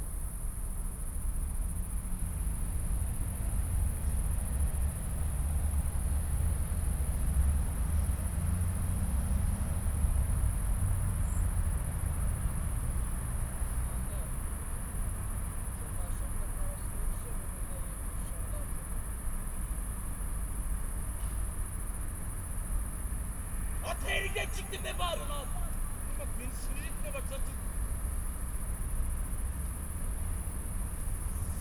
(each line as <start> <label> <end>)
0.0 crickets 31.6
0.0 light breeze in poplar trees 31.6
20.2 distant traffic hum 31.6
23.8 angry young man 27.8